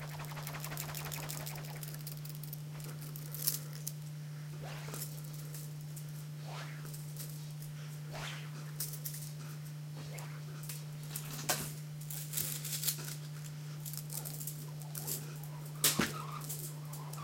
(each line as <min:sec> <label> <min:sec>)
0:00.0 slinkies are twirled around in the air 0:03.9
0:00.0 small plastic slinky being pulled and stretched 0:03.9